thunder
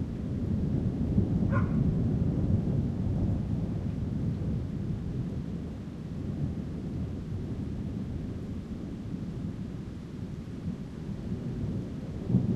0.0s 8.2s, 10.8s 12.5s

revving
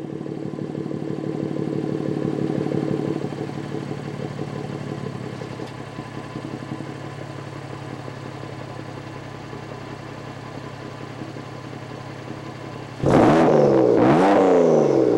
12.9s 15.1s

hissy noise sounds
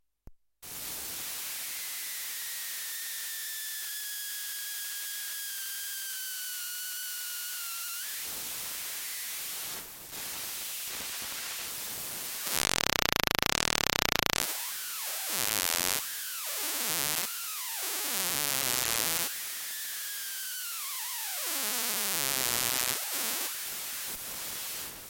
6.4s 25.0s

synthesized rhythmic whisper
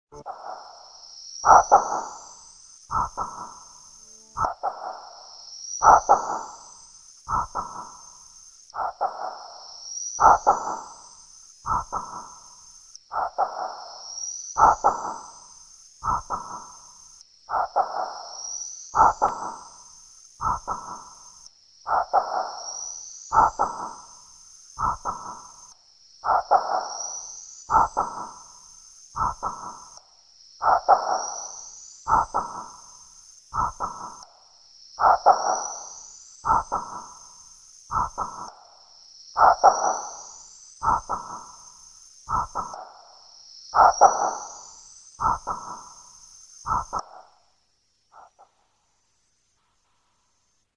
0.1s 2.2s, 2.9s 6.6s, 33.5s 34.3s, 37.9s 38.6s, 40.8s 41.6s, 42.3s 43.0s, 46.7s 47.3s

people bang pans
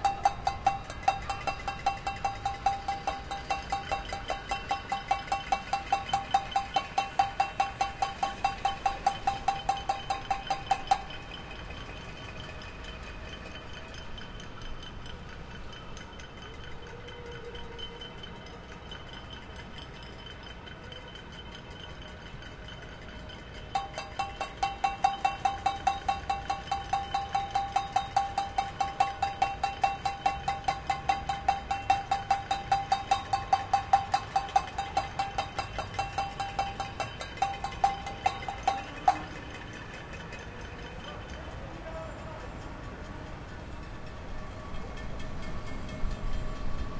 0.0s 11.2s, 23.8s 39.8s

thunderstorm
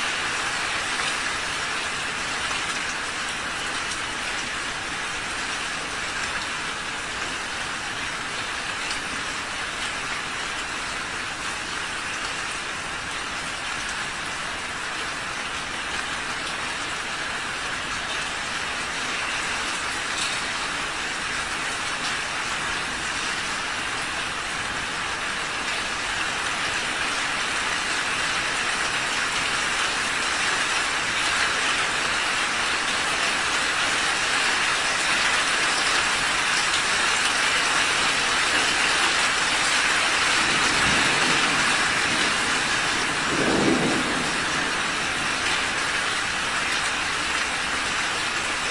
40.2s 48.0s

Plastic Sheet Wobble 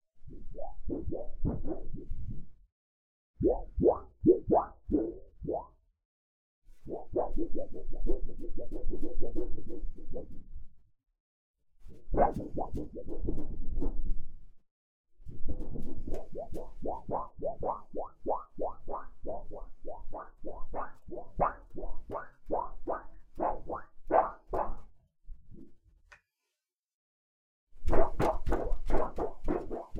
0.2s 2.5s, 3.4s 5.8s, 6.8s 10.7s, 11.8s 14.4s, 15.2s 25.7s, 27.8s 29.9s

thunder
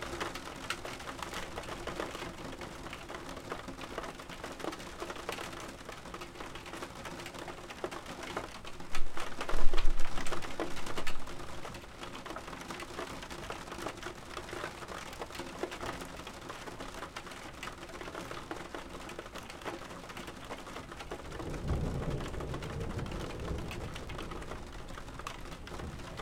21.3s 26.2s

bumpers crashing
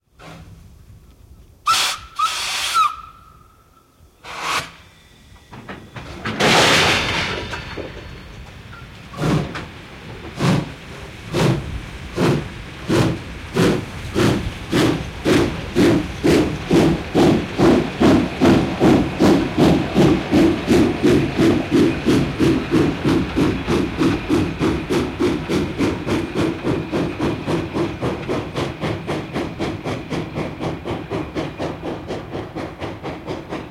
5.5s 10.3s

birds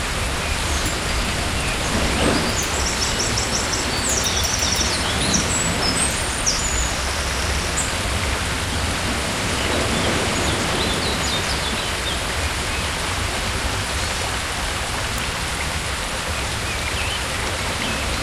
0.4s 8.0s

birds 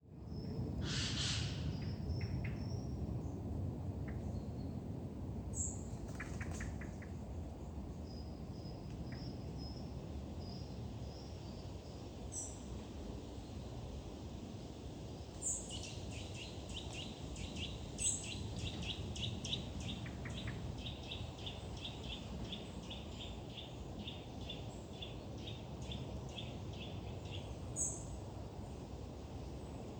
5.6s 7.2s

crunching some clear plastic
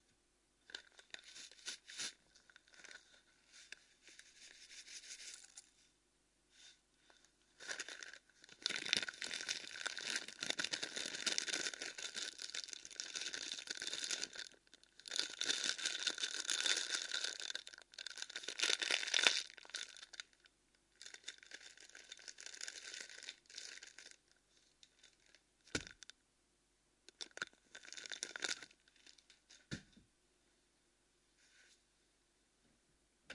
0.7s 3.2s, 7.6s 26.1s, 27.1s 29.6s

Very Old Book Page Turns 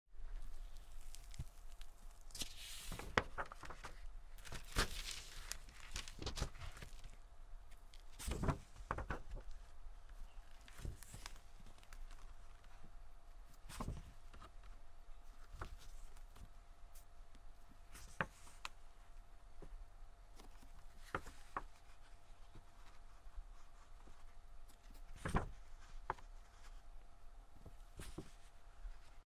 0.4s 7.2s, 7.9s 9.5s, 10.5s 12.7s, 13.5s 14.5s, 24.7s 26.8s

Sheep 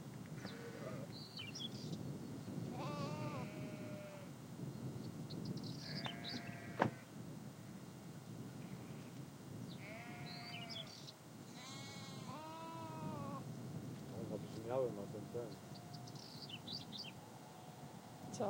5.8s 7.0s, 9.8s 10.9s, 11.5s 13.4s

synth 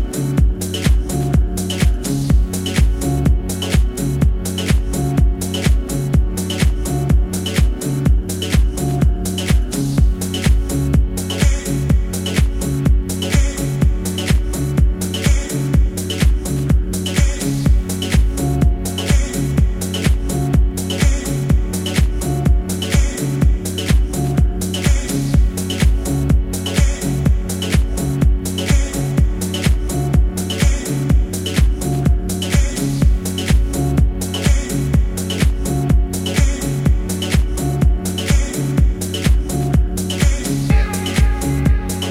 40.4s 42.1s

